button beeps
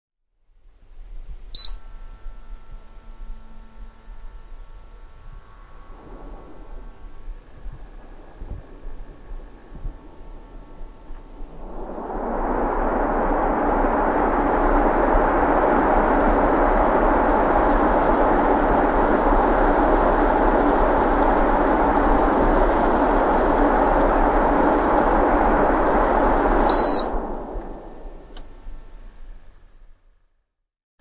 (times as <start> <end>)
1.6 1.8